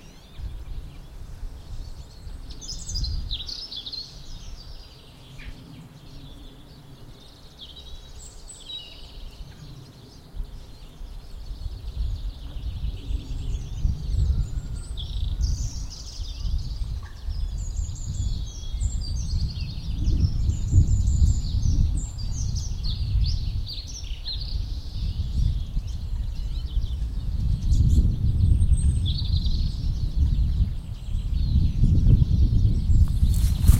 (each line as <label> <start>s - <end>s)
birds 0.0s - 33.7s